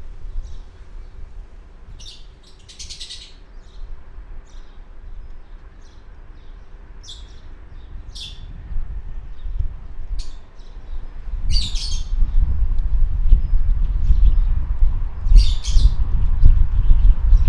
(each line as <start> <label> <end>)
0.0 Wind 17.4
0.2 Birds 12.5
15.2 Birds 17.4